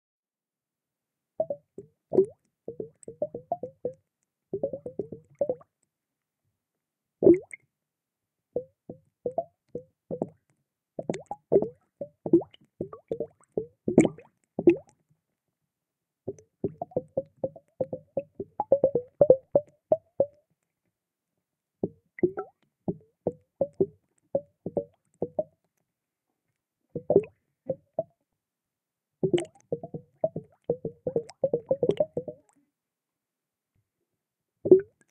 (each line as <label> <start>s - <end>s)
Bubbles 1.4s - 4.0s
Bubbles 7.2s - 7.6s
Bubbles 11.0s - 15.0s
Bubbles 22.2s - 22.6s
Bubbles 27.0s - 28.1s
Bubbles 29.2s - 32.6s
Bubbles 34.7s - 35.1s